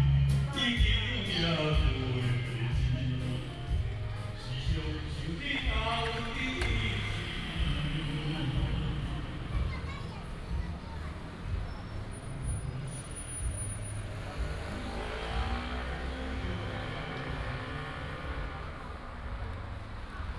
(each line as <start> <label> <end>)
0.0 Traffic sound 20.3